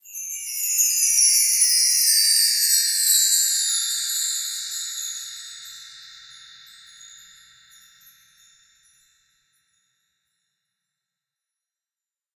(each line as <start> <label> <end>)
0.0 sweep from high to low on a set of tree bar chimes 9.7